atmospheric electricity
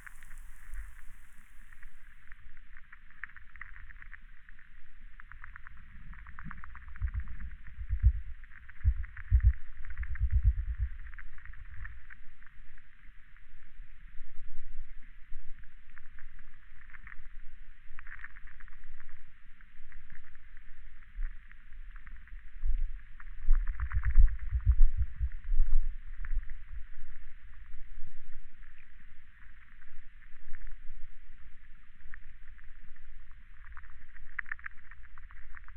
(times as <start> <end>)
0.0 2.2